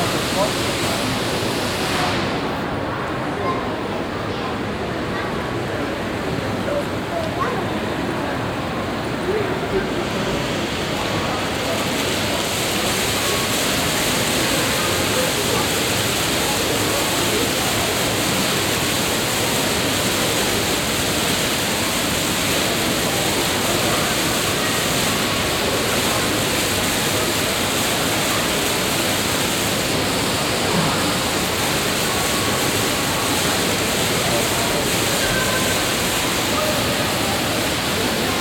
fountain 0:00.0 - 0:03.1
people 0:00.0 - 0:38.4
fountain 0:05.8 - 0:38.4
rolling staircase 0:06.0 - 0:13.7

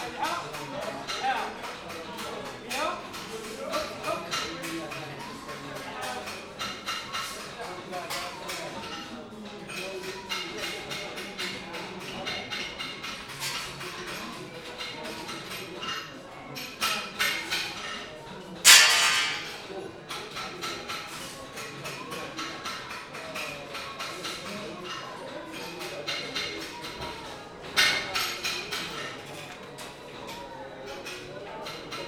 metal workers 0:09.6 - 0:32.0

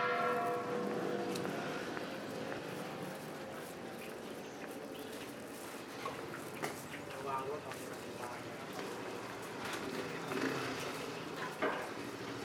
gong 0:00.0 - 0:01.2

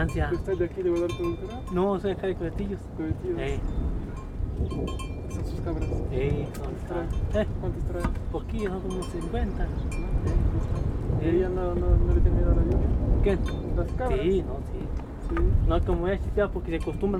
to have a chat 0:00.0 - 0:17.1
rain 0:01.6 - 0:16.8
thunders are clapping 0:02.2 - 0:08.9
thunders are clapping 0:09.6 - 0:17.1

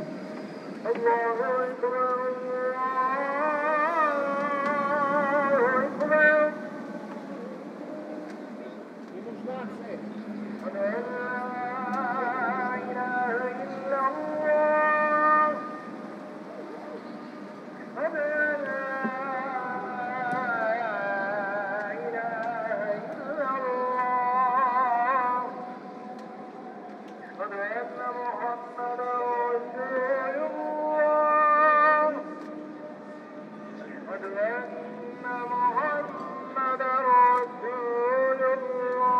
Muezzin call to prayer 0:00.0 - 0:39.1

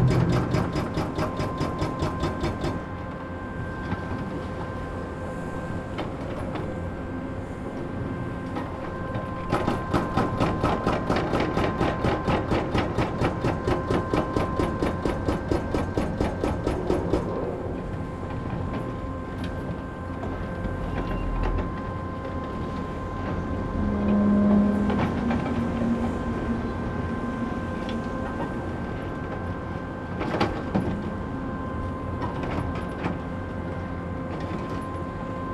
noise of different excavators 0:00.0 - 0:35.5
distant drone of a fog cannon 0:16.7 - 0:34.3

